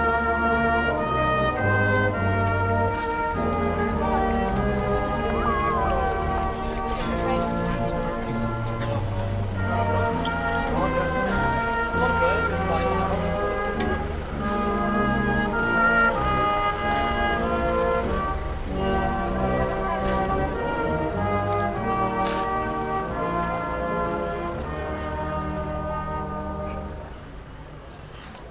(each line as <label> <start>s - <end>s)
orchestra in the street 0.0s - 28.5s